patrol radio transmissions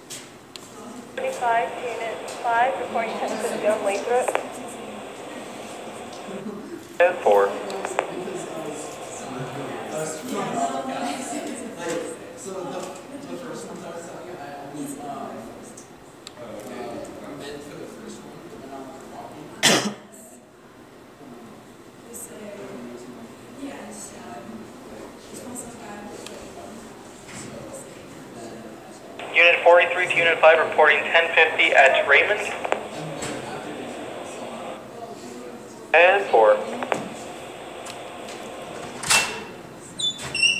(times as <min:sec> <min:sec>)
0:01.2 0:10.6, 0:29.1 0:35.0, 0:36.0 0:39.4